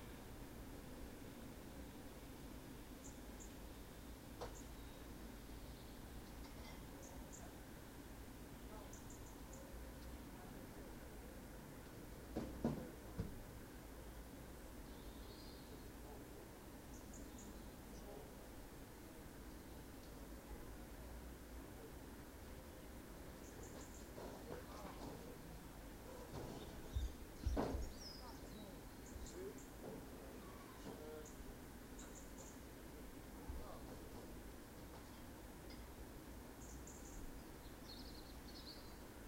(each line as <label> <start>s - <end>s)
birdsong 2.9s - 7.6s
birdsong 8.5s - 10.6s
birdsong 14.8s - 18.4s
birdsong 22.7s - 32.8s
birdsong 33.4s - 39.2s